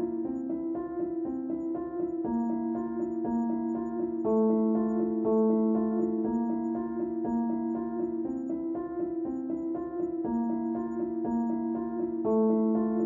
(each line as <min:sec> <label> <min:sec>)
0:00.0 Piano 0:13.0